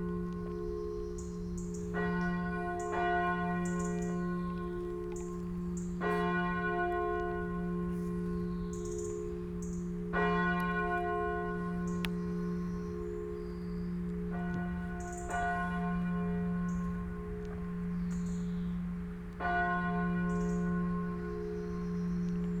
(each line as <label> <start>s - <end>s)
church bells 0.0s - 22.6s